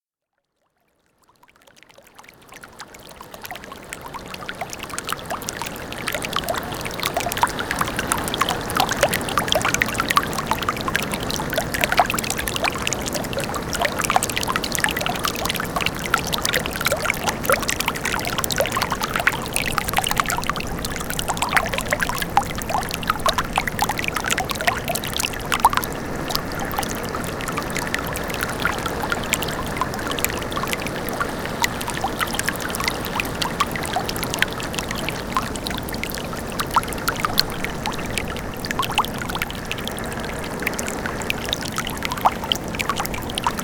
1.5s Water burbling up from a broken water main 43.6s

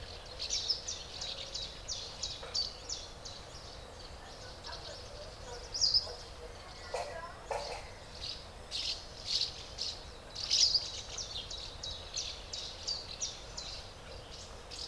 0.0s adult birds feed the nestlings 14.8s

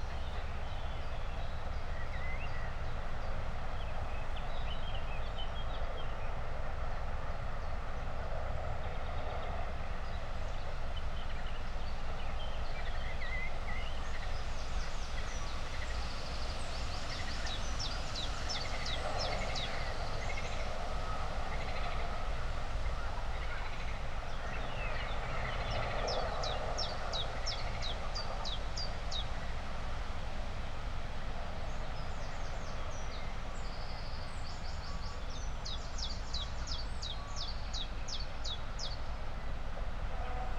0.0s wind 40.5s

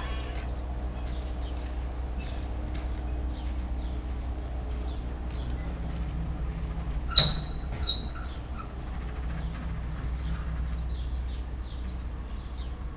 0.0s squeaking old ship moved by wind and waves 12.9s

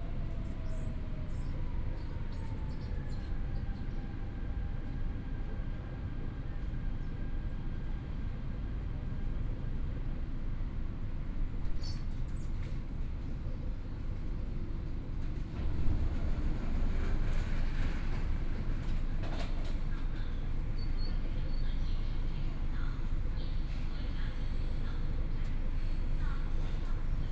0.0s train entering the station interchange 27.3s

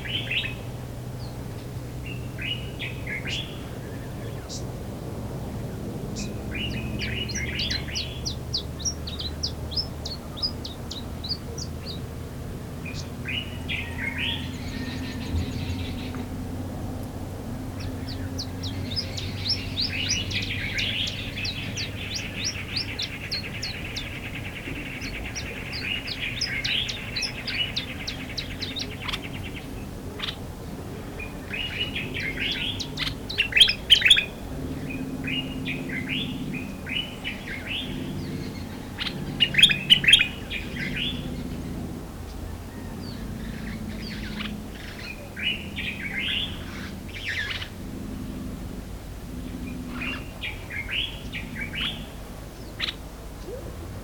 0.0s birds 54.0s

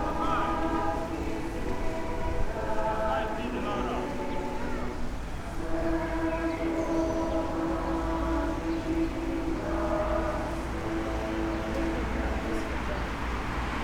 0.0s passers-by 13.8s
0.0s school choir 13.8s
8.1s cars 13.8s

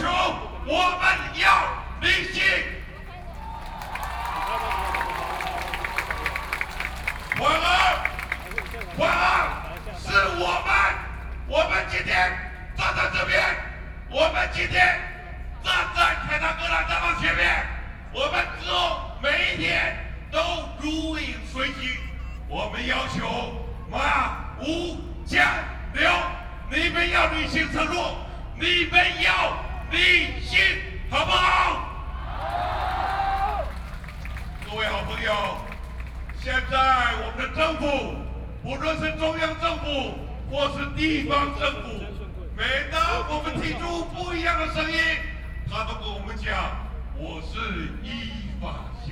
0.0s Excitement and enthusiasm speech 13.6s
18.2s Excitement and enthusiasm speech 49.1s

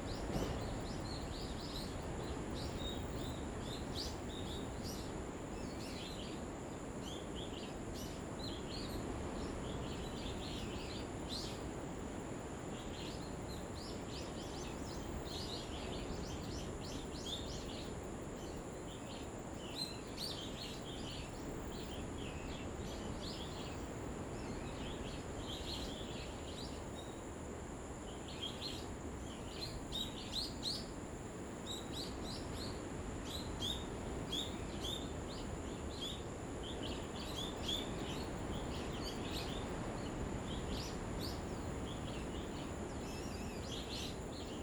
20.5s waves 44.6s

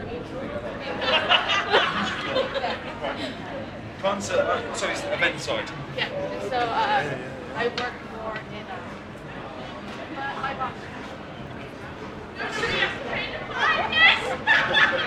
0.0s passersby 15.0s
0.0s queues of people waiting to go in 15.0s
0.0s security guard chatter 15.0s

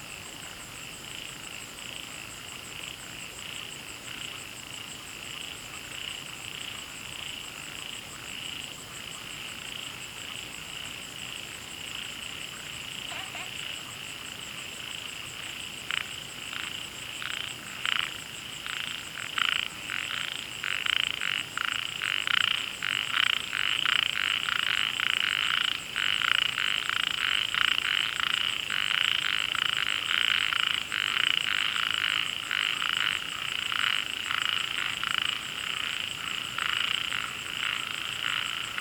10.7s Frogs chirping 38.8s

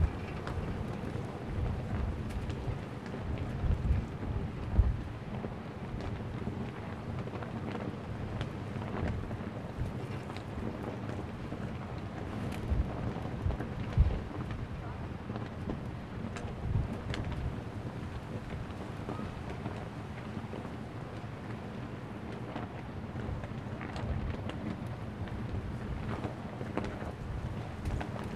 0.0s Very large flag in the wind and rain 28.3s

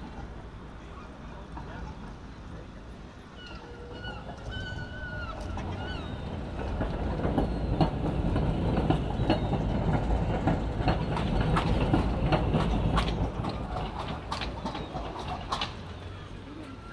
0.0s pedestrians 16.9s
0.0s traffic 16.9s
3.3s seagulls 6.7s
14.6s seagulls 16.9s

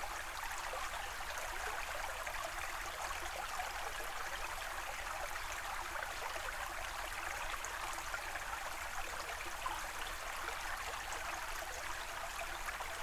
0.0s Creek 13.0s

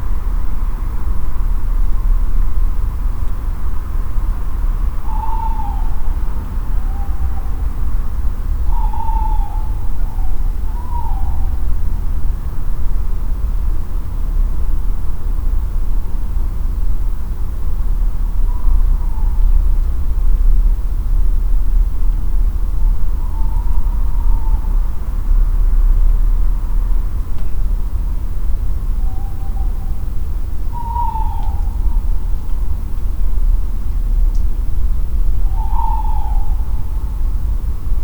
5.0s owls are calling 12.1s
18.3s owls are calling 20.0s
22.7s owls are calling 25.2s
28.8s owls are calling 32.8s
35.2s owls are calling 37.4s

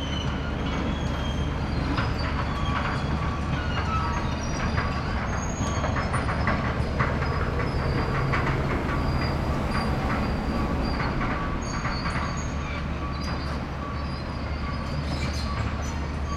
0.0s excavator rumbling across the construction area, whizzing and squeaking 16.3s

